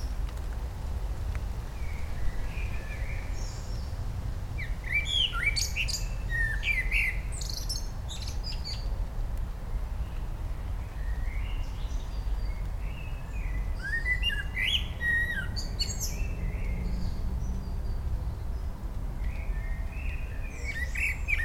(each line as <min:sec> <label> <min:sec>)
0:00.0 bassy, low frequencies of nearby and dense traffic 0:21.4
0:00.0 rain 0:21.4
0:04.6 Blackbird 0:08.9
0:11.0 Blackbird 0:18.0
0:19.2 Blackbird 0:21.4